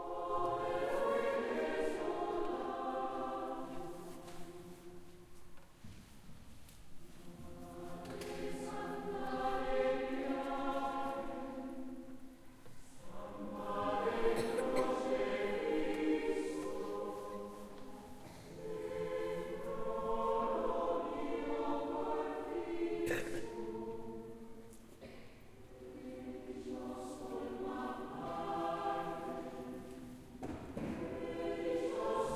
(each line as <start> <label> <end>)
0.0 church choir 32.3